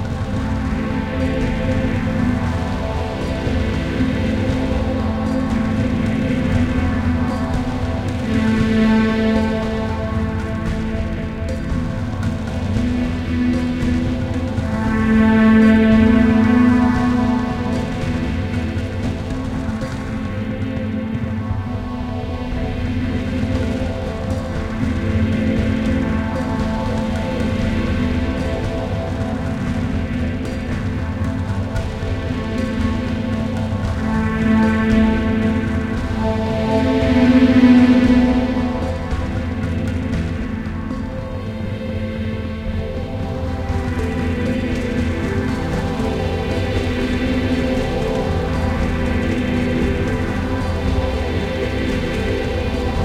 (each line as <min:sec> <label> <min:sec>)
0:00.0 Smooth strings 0:53.0
0:00.0 synth 0:53.0
0:23.5 Drum Rhythms 0:41.5